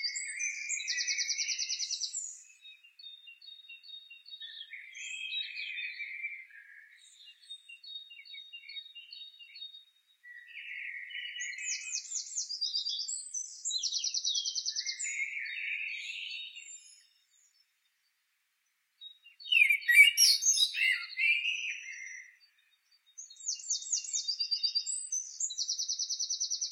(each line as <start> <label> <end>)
0.0 blackbird 26.7
19.0 robin 26.7